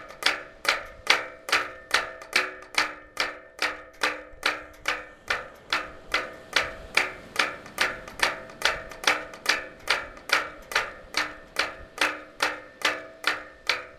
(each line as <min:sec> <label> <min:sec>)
0:00.0 Wind on the boats masts 0:13.9